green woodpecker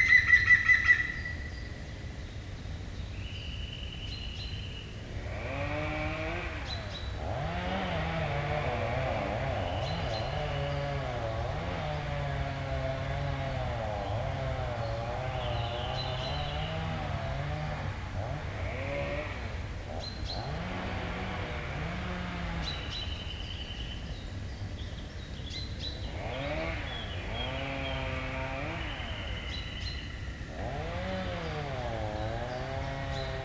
0:00.0 0:01.8, 0:09.4 0:11.8, 0:14.0 0:17.2

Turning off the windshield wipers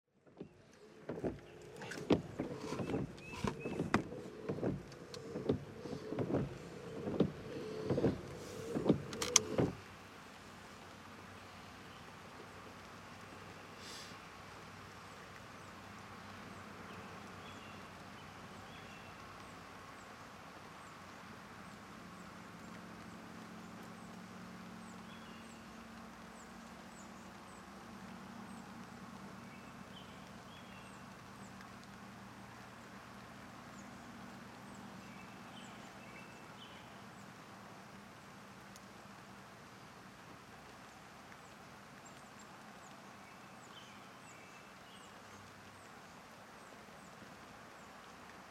0:00.2 0:09.9

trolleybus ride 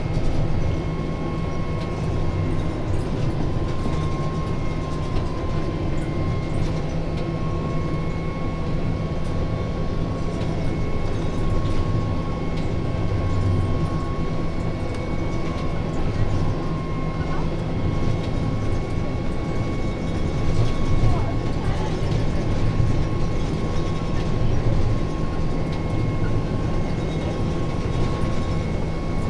0:08.8 0:29.2

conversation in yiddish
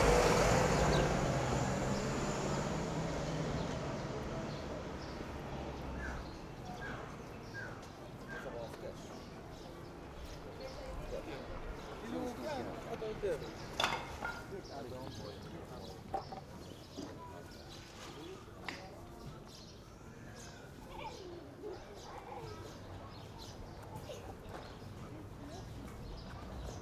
0:05.8 0:26.7

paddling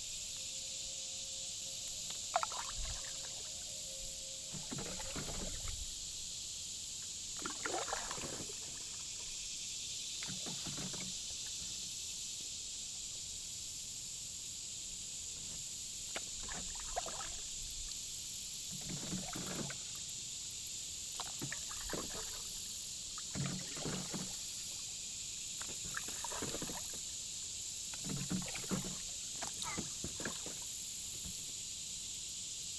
0:02.1 0:03.5, 0:04.5 0:05.9, 0:07.4 0:09.0, 0:25.6 0:27.0, 0:27.9 0:30.7

